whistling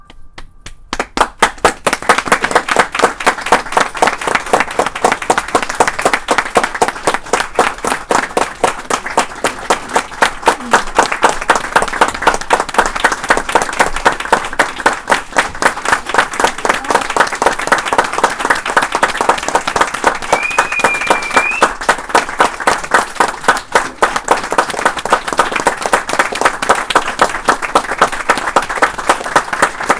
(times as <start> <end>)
20.1 21.9